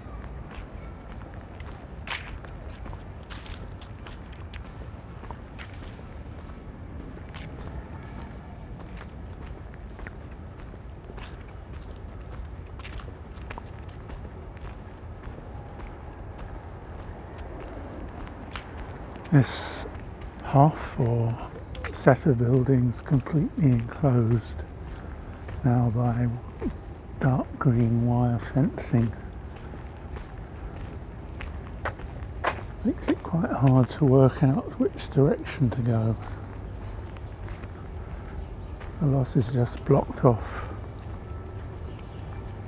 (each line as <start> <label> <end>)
0.0 traffic 42.6
17.6 distance shouts 29.7
31.8 distance shouts 36.5
38.8 distance shouts 41.6